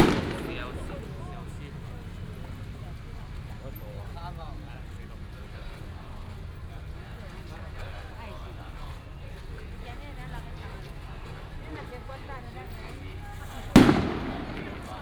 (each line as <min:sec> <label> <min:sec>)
0:00.0 fireworks 0:02.6
0:00.0 Firecrackers 0:03.8
0:13.2 Firecrackers 0:15.0
0:13.3 fireworks 0:15.0